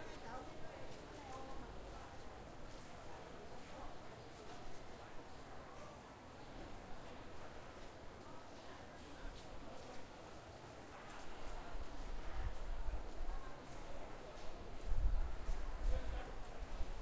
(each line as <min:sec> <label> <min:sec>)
0:00.0 People buying and selling 0:17.0